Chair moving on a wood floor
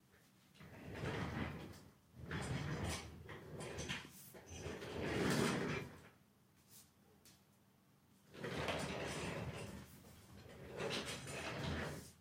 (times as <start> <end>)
0.6 6.1, 8.3 12.2